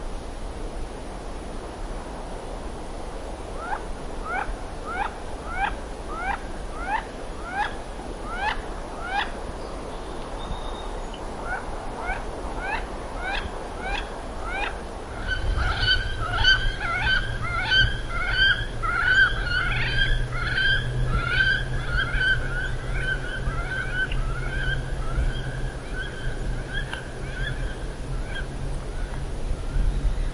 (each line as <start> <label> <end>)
0.0 Wind in the trees 30.3
10.4 flying off with alarm calls 30.2
11.4 Wood ducks murmuring among themselves 29.2